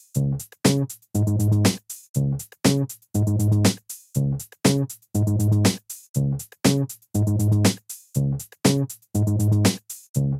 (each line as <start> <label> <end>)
0.0 bass 10.3
0.0 drums 10.3